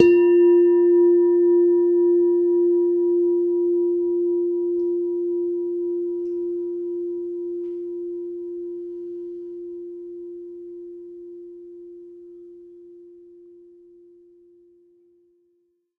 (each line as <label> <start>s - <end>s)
Semi tuned bell tones 0.0s - 14.4s